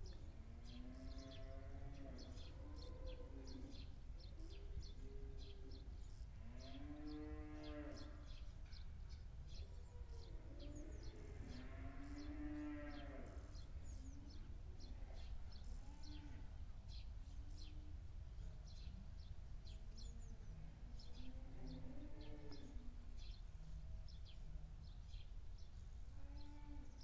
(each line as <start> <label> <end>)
0.1 howling cows in the stable 8.8
9.5 howling cows in the stable 16.6
20.8 howling cows in the stable 23.3
26.1 howling cows in the stable 27.0